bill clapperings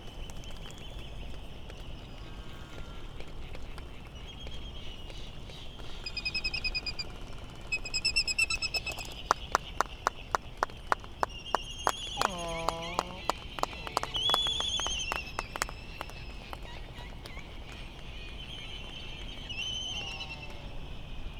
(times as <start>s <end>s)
8.6s 18.0s